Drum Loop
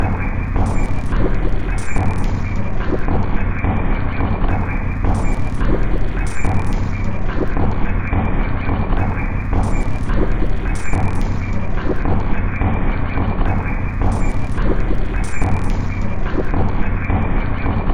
0.0s 3.0s, 4.5s 7.6s, 9.0s 12.0s, 13.5s 16.4s

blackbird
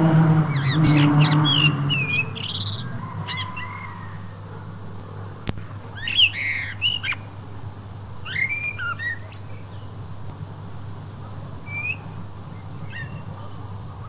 0.5s 4.1s, 6.0s 7.3s, 8.2s 9.9s, 11.6s 14.0s

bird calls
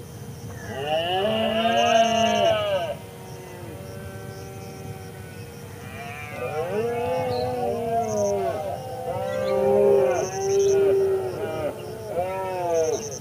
3.3s 13.2s

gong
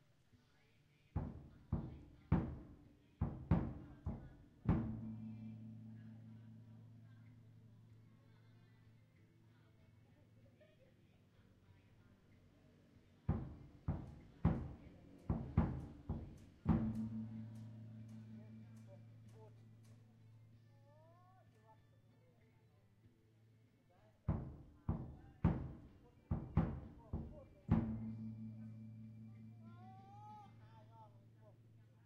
4.7s 8.1s, 15.4s 20.0s, 26.4s 30.9s

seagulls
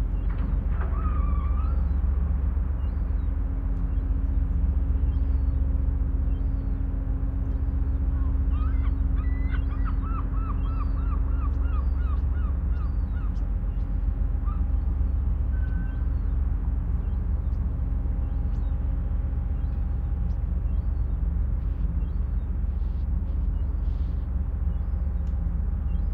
0.2s 2.0s, 8.1s 13.8s, 14.4s 16.4s

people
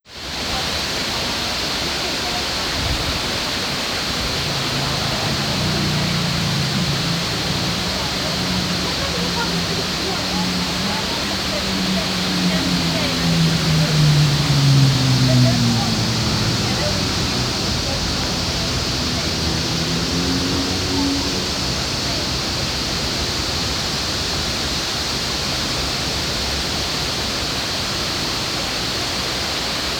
0.4s 23.8s

